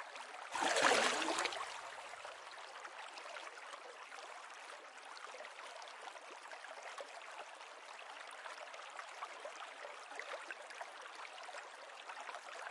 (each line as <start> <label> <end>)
0.5 Fish being released into a river 1.7